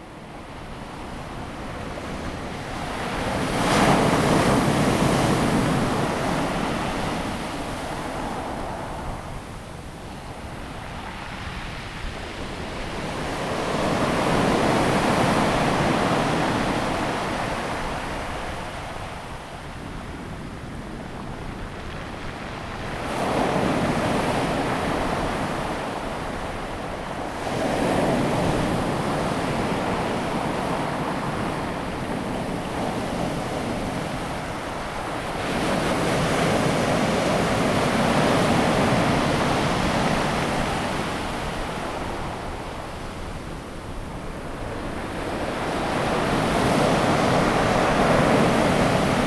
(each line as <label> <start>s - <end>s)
waves 0.0s - 49.2s